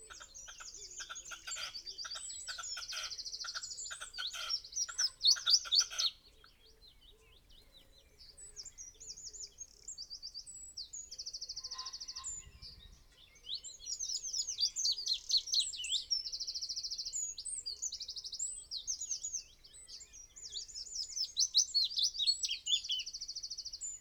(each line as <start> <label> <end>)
0.0 red-legged partridge calls 6.5
0.0 blackbird song 24.0
0.0 pheasant 24.0
0.1 crow 6.2
11.6 crow 12.6
11.6 red-legged partridge calls 12.8